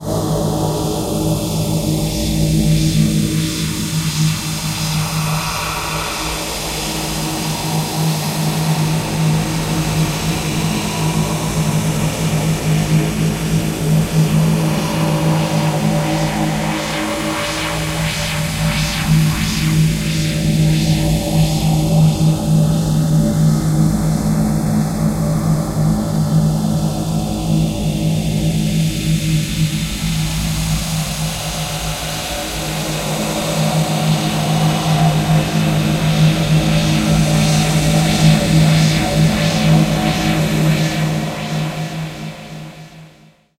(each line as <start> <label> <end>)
0.0 drone 43.4